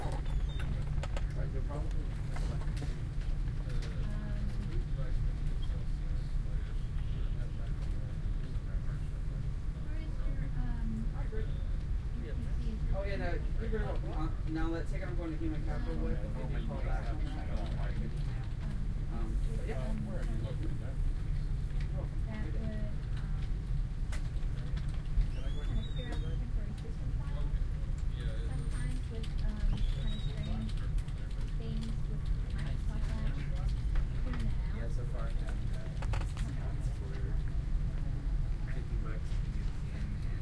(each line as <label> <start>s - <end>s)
people 13.6s - 40.4s
typing 28.8s - 32.8s